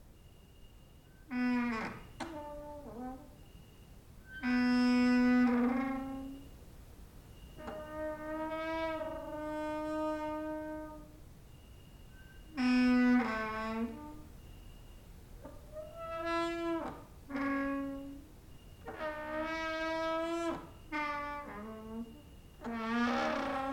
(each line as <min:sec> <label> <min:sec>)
0:00.2 cricket outside 0:01.3
0:01.2 creaking with wooden doors 0:06.6
0:07.3 creaking with wooden doors 0:11.2
0:11.4 cricket outside 0:12.6
0:12.1 creaking with wooden doors 0:23.7